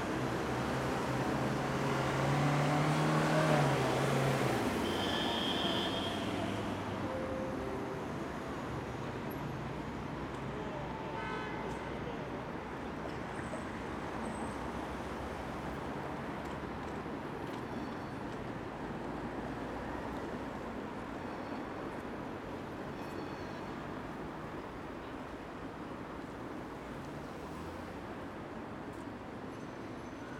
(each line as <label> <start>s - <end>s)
cars 0.0s - 21.2s
trucks 0.0s - 30.3s
trams 3.6s - 30.3s